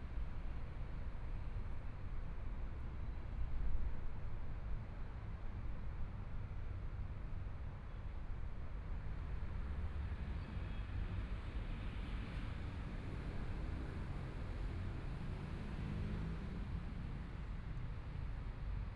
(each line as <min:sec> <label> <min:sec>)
0:09.6 Traffic Sound 0:18.9